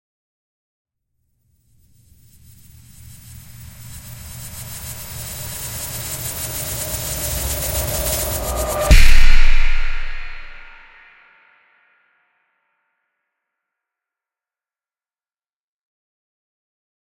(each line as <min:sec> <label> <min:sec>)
0:02.2 Build-Up and Hit 0:11.0